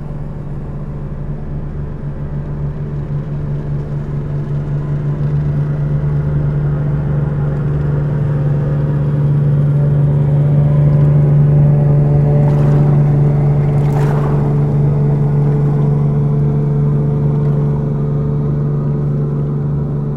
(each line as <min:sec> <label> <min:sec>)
0:12.1 barges passing by 0:16.4